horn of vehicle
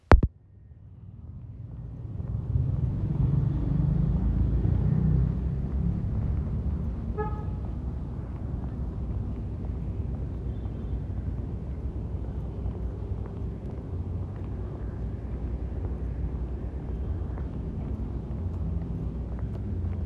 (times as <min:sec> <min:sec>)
0:07.1 0:07.8